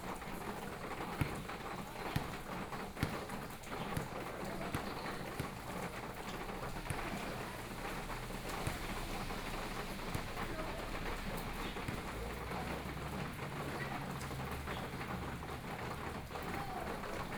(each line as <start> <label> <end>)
0.1 Play basketball 17.3
1.2 Traffic Sound 17.3